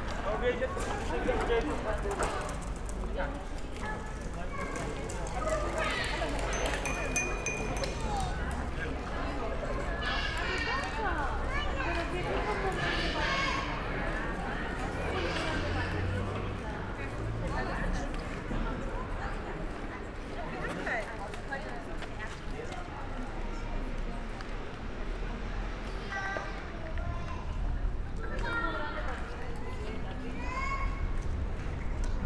0.0s street sounds 32.2s

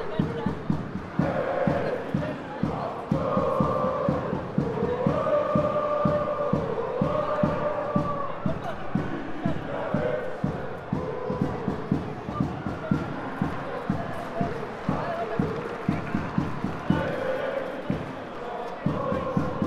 0.0s Supporters chanting 19.6s
0.1s loud roar comes from the home teams supporters 19.6s

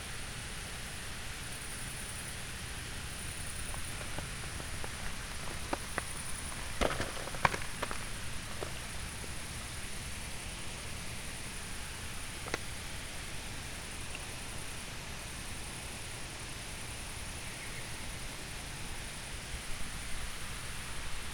2.8s gravel 14.4s
2.8s tiny water flow 15.4s

